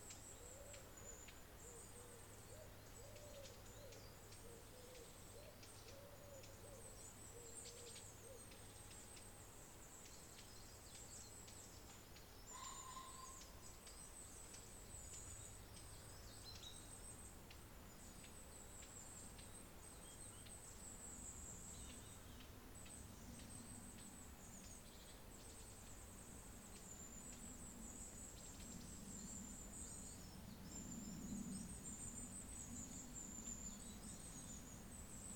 fallow deer can be heard 'barking' 12.5 - 13.6

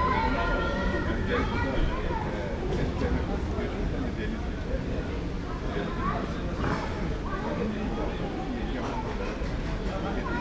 people talking 0.0 - 10.4

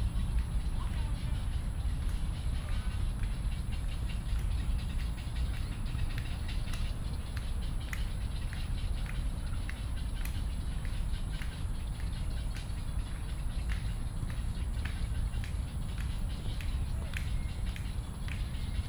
Environmental Traffic Sound 0.0 - 18.8
Bird calls 0.0 - 18.8
clapping motion 5.5 - 18.8

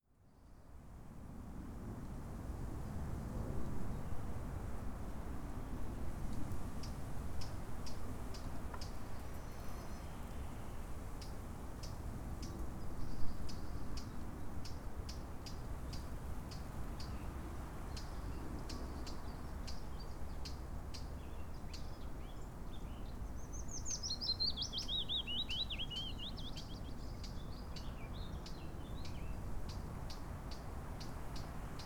Willow Warbler 21.2 - 31.8

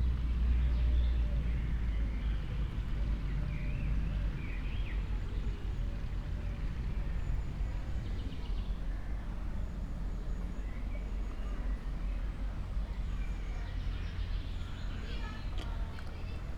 river 6.6 - 16.5

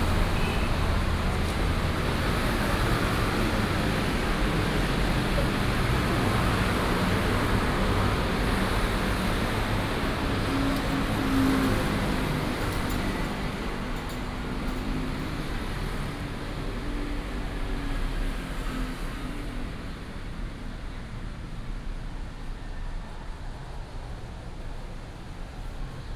Heavy traffic 0.0 - 22.0

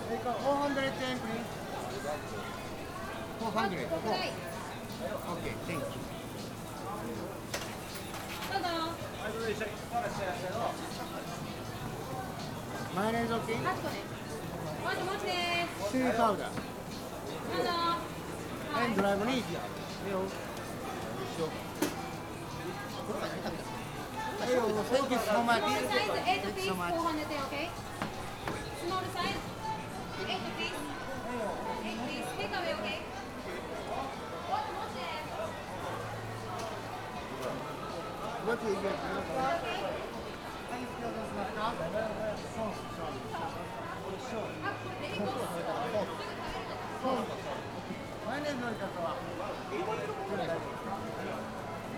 cooks taking orders 0.0 - 51.9
customers talking 0.0 - 51.9

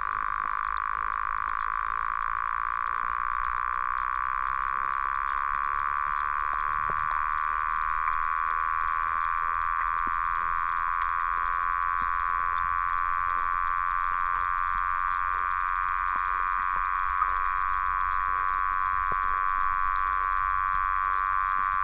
Underwater sounds 0.0 - 21.8

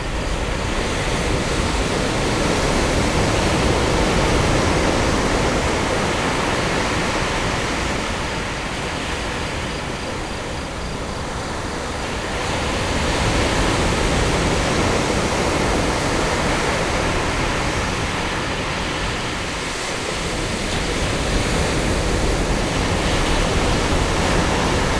Ocean 0.0 - 24.9

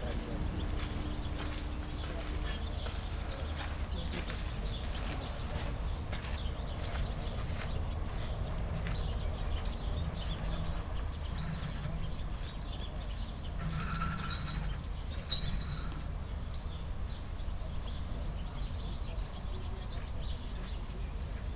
squeaking old ship moved by wind and waves 9.6 - 17.2

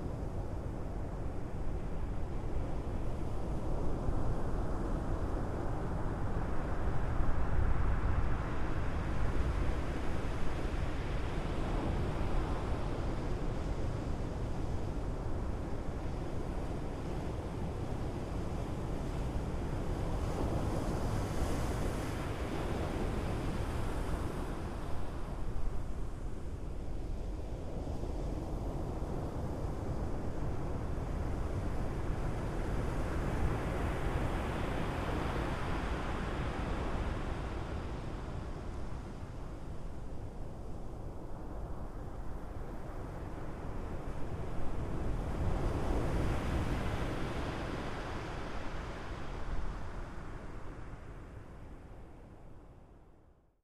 Waves breaking on the beach 42.0 - 51.4

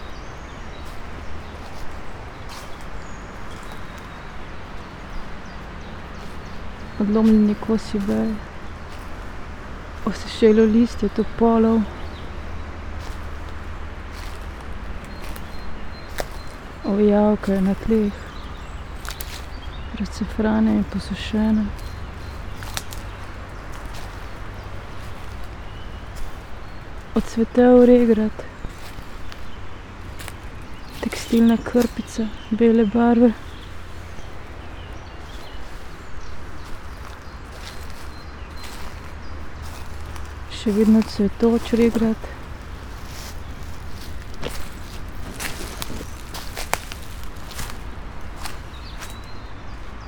steps 0.8 - 10.3
words 7.0 - 8.4
words 10.0 - 12.0
steps 11.0 - 32.5
words 16.8 - 18.3
words 19.9 - 21.8
river flow 20.9 - 32.1
words 27.2 - 28.6
words 31.0 - 33.4
steps 33.3 - 50.0
river flow 33.4 - 50.0
words 40.5 - 42.5

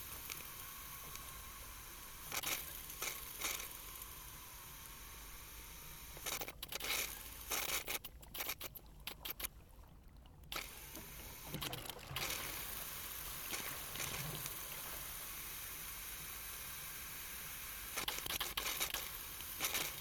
Malfunctioning valve on a water pipeline 10.5 - 20.0

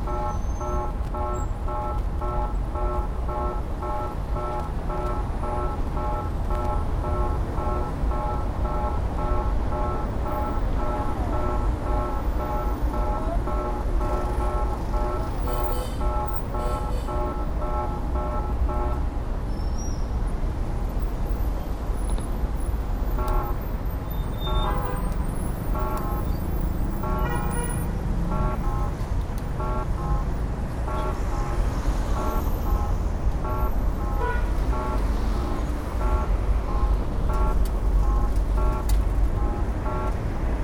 traffic light sounds 23.1 - 27.6
traffic light sounds 34.5 - 40.3

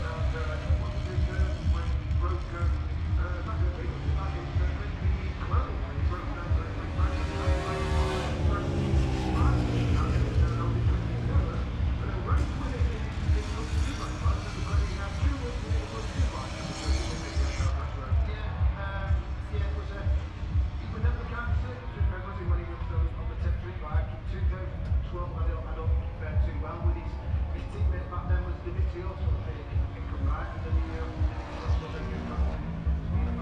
commentary 0.0 - 33.4
motorcycle grand prix 0.0 - 33.4

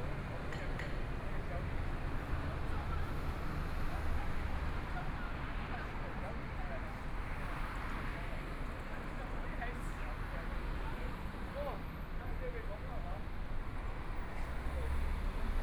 Pedestrians on the road 0.0 - 15.6
Traffic Sound 7.2 - 15.6

